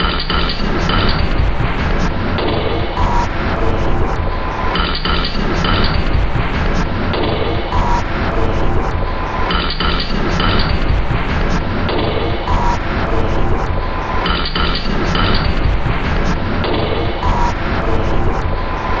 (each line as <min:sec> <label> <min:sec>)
0:00.0 Drum Loop 0:19.0